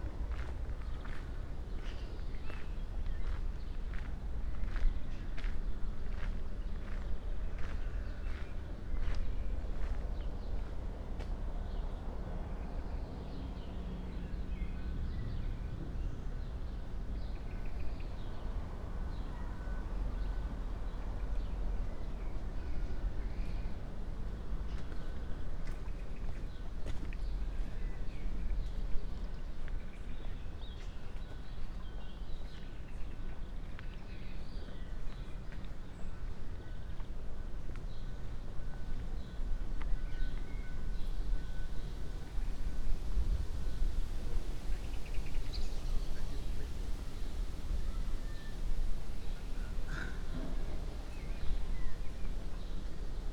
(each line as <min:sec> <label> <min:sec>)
0:22.9 short walk over the cemetery 0:53.3